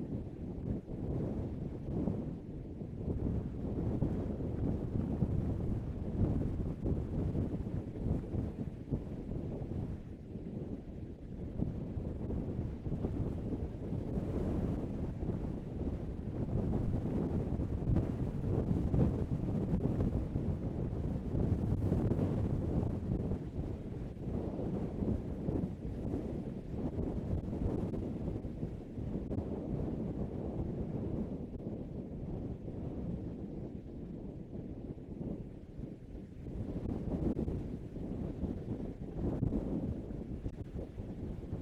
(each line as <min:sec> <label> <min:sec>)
0:00.0 Heavy wind 0:41.6